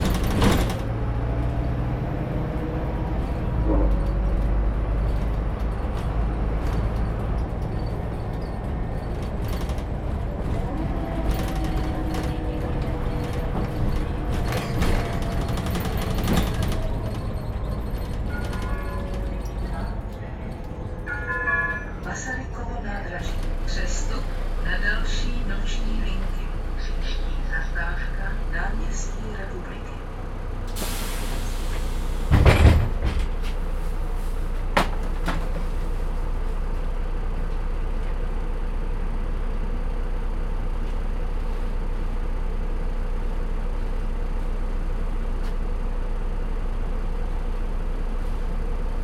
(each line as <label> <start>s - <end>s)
ride on a night bus 0.0s - 49.0s
rattling sounds 3.9s - 20.9s